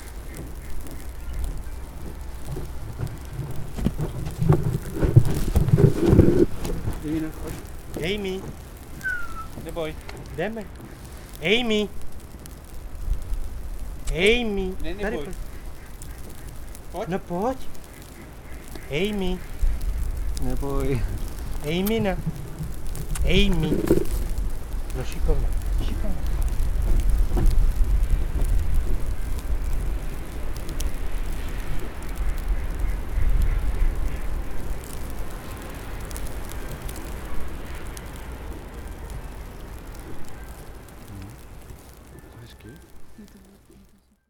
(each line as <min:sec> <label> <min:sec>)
0:00.0 waterfowl 0:02.0
0:00.0 People walking dogs are rushing 0:11.3
0:09.0 dogs 0:10.4
0:09.0 waterfowl 0:11.2
0:15.0 waterfowl 0:19.7
0:31.4 waterfowl 0:35.8